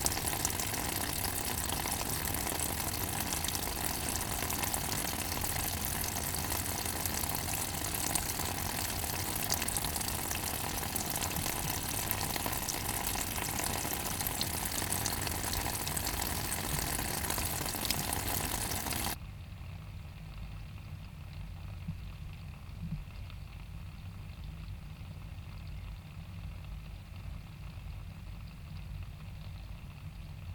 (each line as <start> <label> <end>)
0.0 rivulet of water is emptying out of pipe and falling 19.2